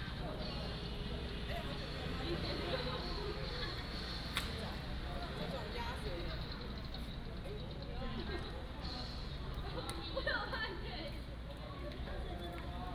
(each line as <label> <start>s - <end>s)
Traffic Sound 0.0s - 12.9s